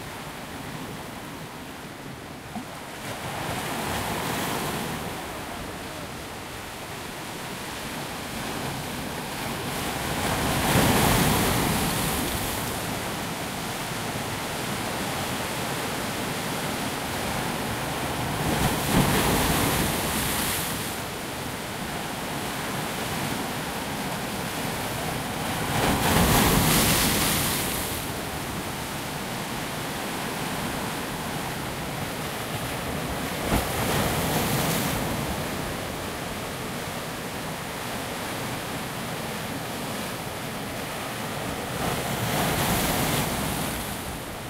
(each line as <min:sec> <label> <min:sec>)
0:00.0 waves 0:44.4